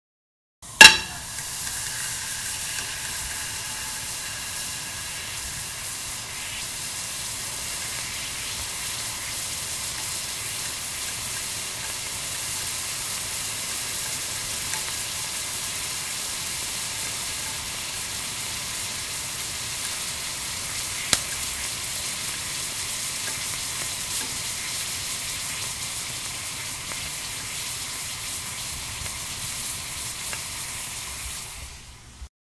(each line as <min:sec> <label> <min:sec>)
0:00.6 piece of ice on a hot pan 0:32.3